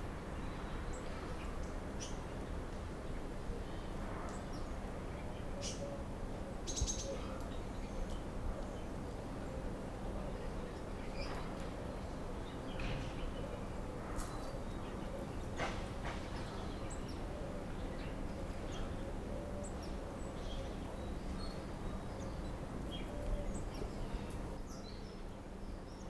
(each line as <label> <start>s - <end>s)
morning voices birds 3.2s - 26.0s